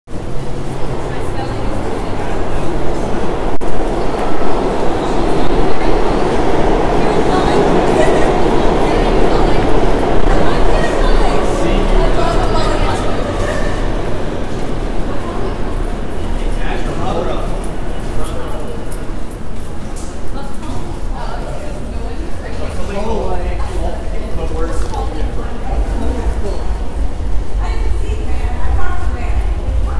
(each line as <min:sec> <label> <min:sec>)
0:00.1 Train 0:29.9